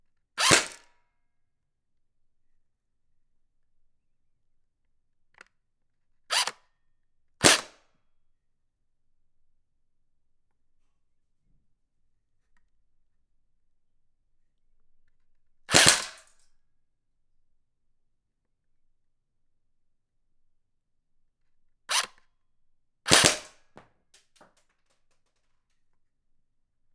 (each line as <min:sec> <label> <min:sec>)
0:00.4 Airsoft Shooting a can 0:00.8
0:07.4 Airsoft Shooting a can 0:07.8
0:15.7 Airsoft Shooting a can 0:16.3
0:21.9 Airsoft Shooting a can 0:22.1
0:23.1 Airsoft Shooting a can 0:24.5